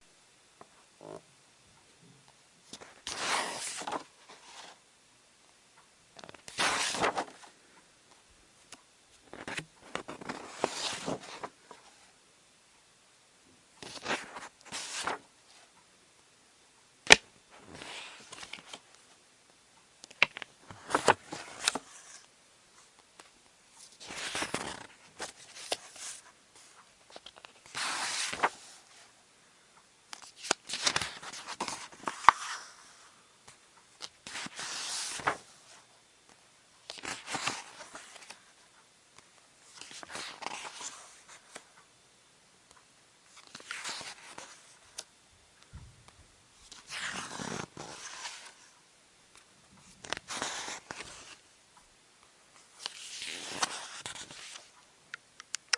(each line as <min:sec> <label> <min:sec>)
0:02.7 Flipping book pages 0:04.8
0:06.2 Flipping book pages 0:07.5
0:08.7 Flipping book pages 0:12.1
0:13.8 Flipping book pages 0:15.2
0:17.0 Flipping book pages 0:19.0
0:20.0 Flipping book pages 0:22.3
0:23.2 Flipping book pages 0:29.0
0:30.1 Flipping book pages 0:33.0
0:34.0 Flipping book pages 0:35.8
0:36.8 Flipping book pages 0:38.5
0:39.7 Flipping book pages 0:41.6
0:43.3 Flipping book pages 0:45.1
0:46.6 Flipping book pages 0:48.6
0:49.8 Flipping book pages 0:51.4
0:52.8 Flipping book pages 0:54.8